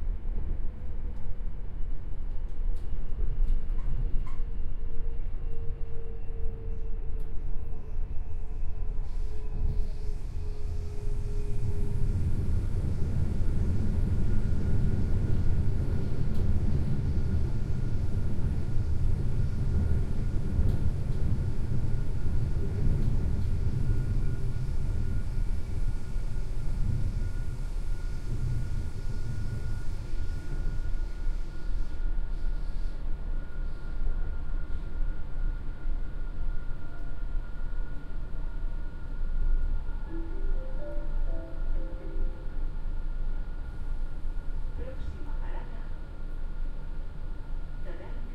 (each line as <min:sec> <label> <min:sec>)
0:00.0 train 0:48.3